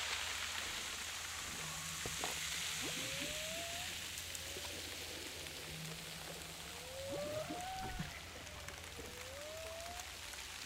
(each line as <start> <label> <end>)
6.7 Humpback whales 8.6